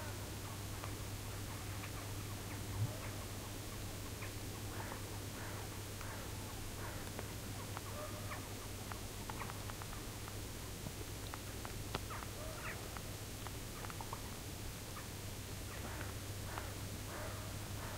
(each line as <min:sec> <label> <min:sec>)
0:11.3 birds 0:17.9